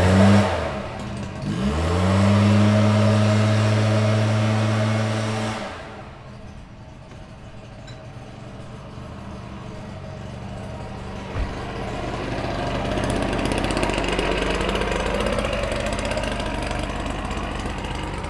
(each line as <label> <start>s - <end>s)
construction 0.0s - 18.2s
lawn mowers 0.0s - 18.2s